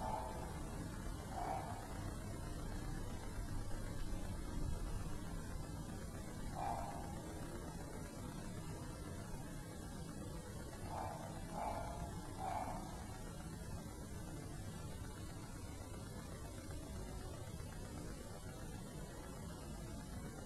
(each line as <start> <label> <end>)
0.0 dog barking 0.6
1.3 dog barking 2.1
6.5 dog barking 7.2
10.9 dog barking 13.2